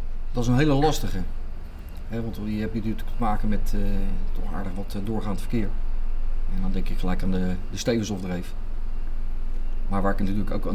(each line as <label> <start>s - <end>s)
Wijkagent Arthur vertelt 0.3s - 5.7s